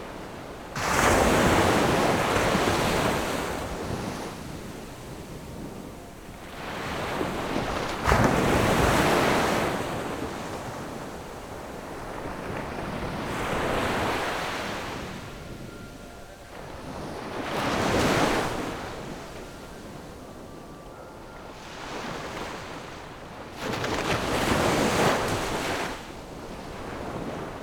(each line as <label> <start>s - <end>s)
waves 0.0s - 27.6s